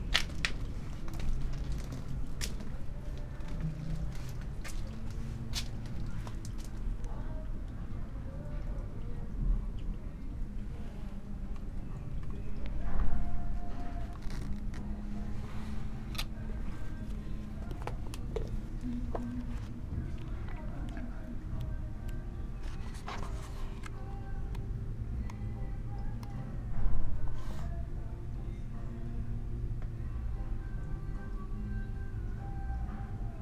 10.3s reading poem 26.2s

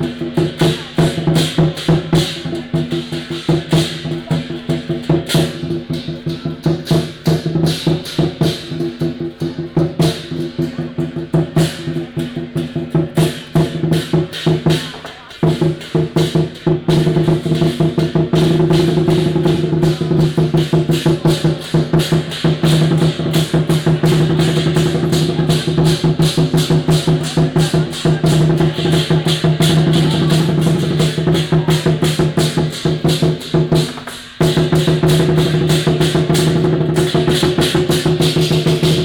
0.0s Crowded crowd 39.0s
0.1s Fireworks and firecrackers sound 39.0s

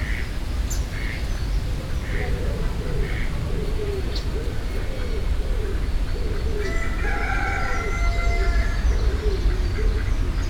6.7s Cock 8.7s

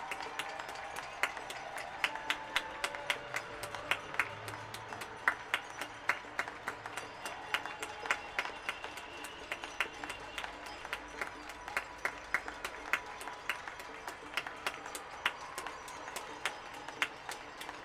0.0s crowd 17.8s

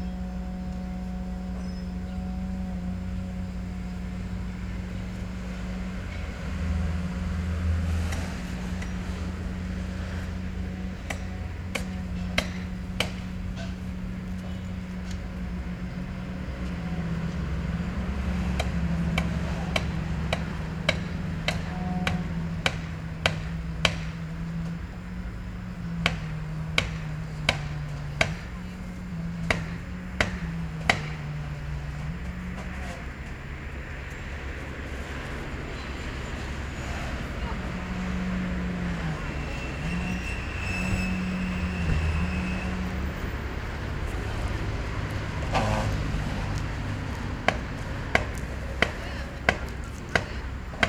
0.0s Building a pedestrian bridge 50.8s
0.0s People 50.8s
0.0s Street traffic 50.8s

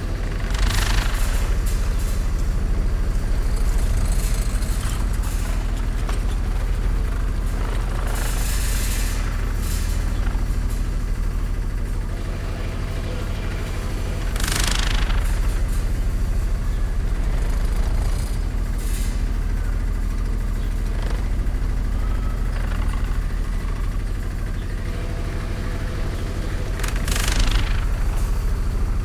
0.1s wastewater pump rattling 29.0s

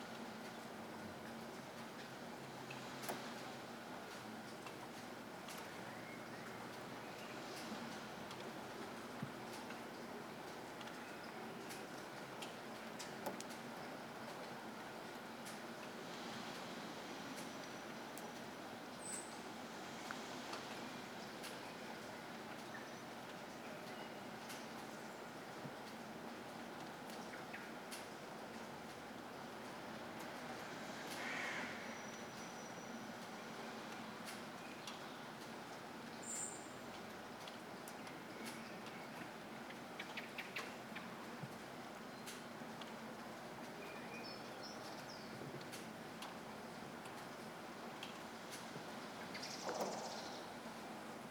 0.0s soft rain 51.3s

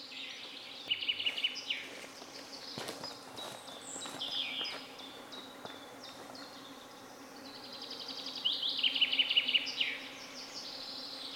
0.0s grand mosquitos chorus 11.3s

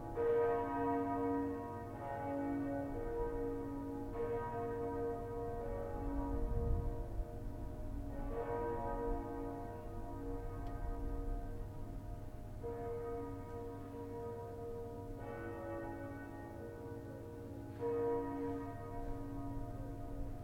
0.0s Cathedral and churches bells 20.4s

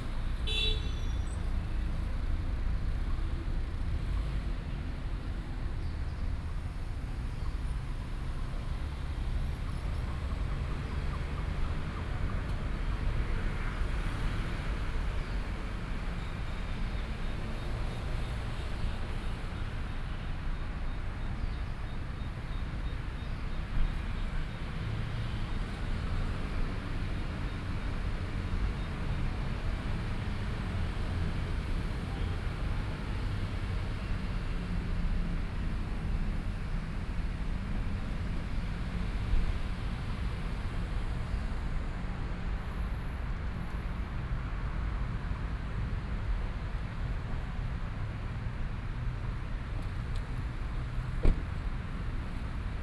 0.0s Traffic Sound 52.8s

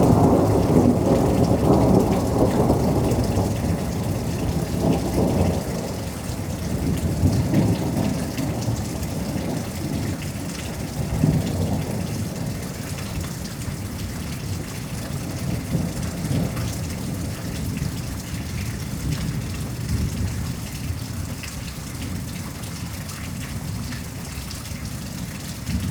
0.0s Thunderstorm 21.4s
25.3s Thunderstorm 25.9s

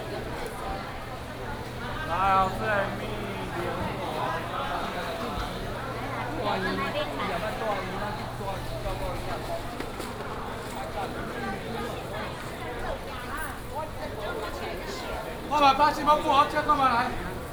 0.0s Walking through traditional markets 17.5s

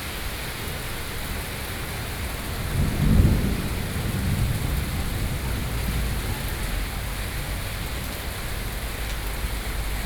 0.0s Traffic Noise 10.0s
1.8s Thunderstorm 8.9s

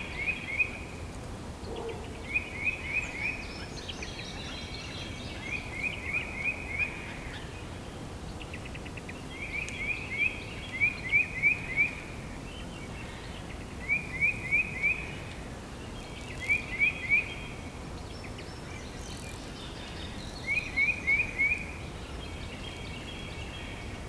1.6s birds are singing 24.0s

